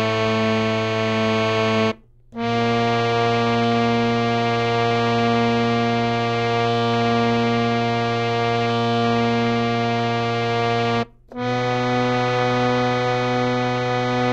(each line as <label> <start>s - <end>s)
harmonium 0.0s - 14.3s